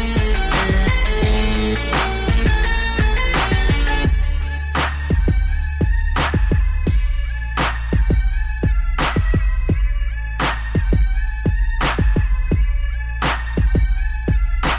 guitar 0.0 - 4.3

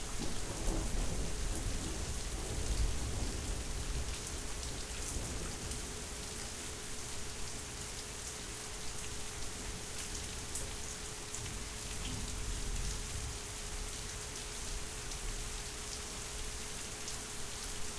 rain 0.0 - 17.9
thunder 0.4 - 4.1

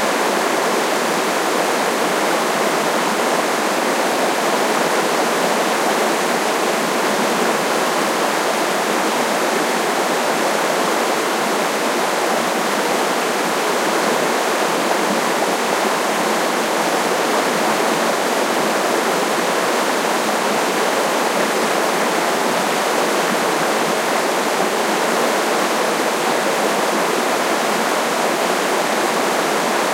river 0.0 - 29.9

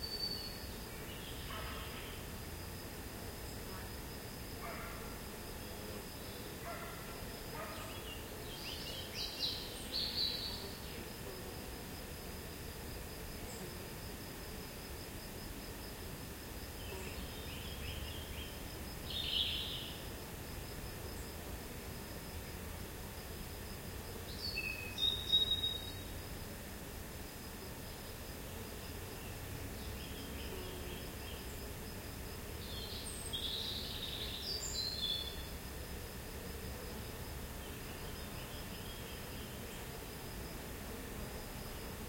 insects 0.0 - 42.0
wind 0.0 - 42.0

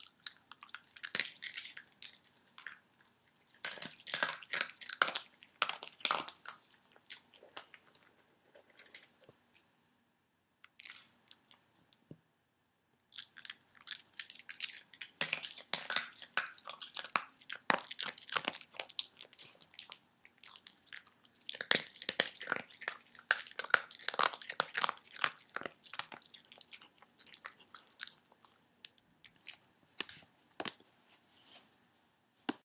Dog eating cookies 0.0 - 9.7
Dog eating cookies 13.0 - 29.7

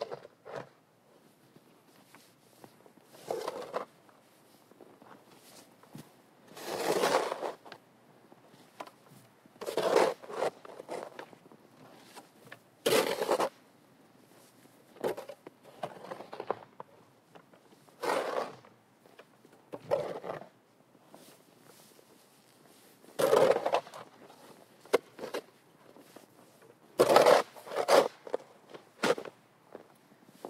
Shoveling snow 1.9 - 4.6
Shoveling snow 5.2 - 7.7
Shoveling snow 9.6 - 11.2
Shoveling snow 11.9 - 13.6
Shoveling snow 17.9 - 18.7
Shoveling snow 21.1 - 29.4

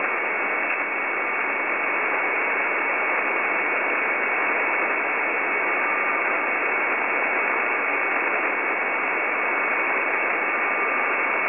static 0.0 - 11.4

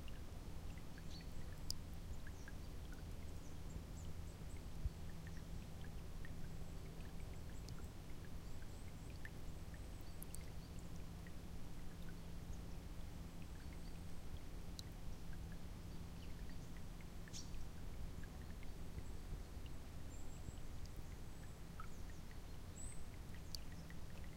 birds in the distance 11.8 - 24.3

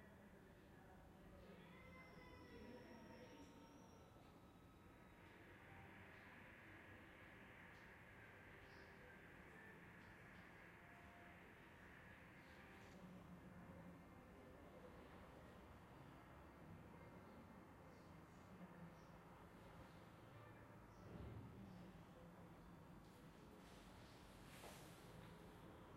television sound coming from closed apartments 0.0 - 25.9

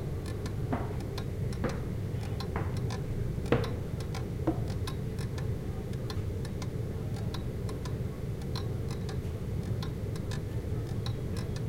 ticking clock 0.0 - 11.6

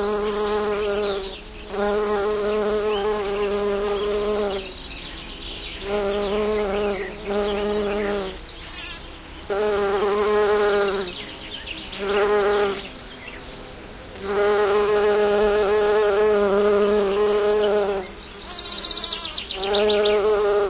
birds 0.0 - 20.6
bumblebee buzzing 0.0 - 20.6
insects 0.0 - 20.6

